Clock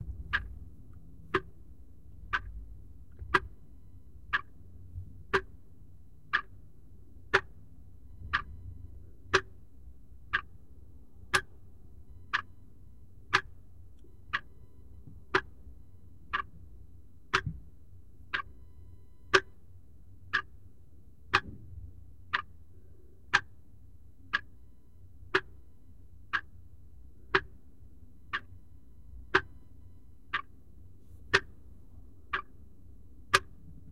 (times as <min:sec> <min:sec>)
0:03.1 0:03.6, 0:04.3 0:04.6, 0:05.3 0:05.5, 0:06.3 0:06.6, 0:07.3 0:07.6, 0:08.2 0:08.6, 0:09.3 0:09.5, 0:11.3 0:11.5, 0:12.1 0:12.5, 0:13.3 0:13.5, 0:14.3 0:14.7, 0:15.3 0:15.6, 0:16.3 0:16.5, 0:17.3 0:17.6, 0:18.3 0:19.6, 0:20.3 0:20.5, 0:21.3 0:21.6, 0:22.3 0:22.5, 0:23.3 0:23.5, 0:24.3 0:24.5, 0:25.3 0:25.6, 0:26.3 0:26.5, 0:27.3 0:27.6, 0:28.3 0:28.6, 0:29.3 0:30.5, 0:31.3 0:31.6, 0:32.3 0:32.6, 0:33.3 0:33.6